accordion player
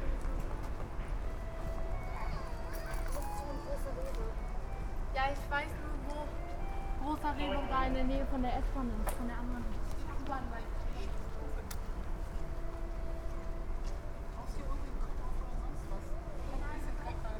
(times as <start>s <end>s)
1.1s 8.4s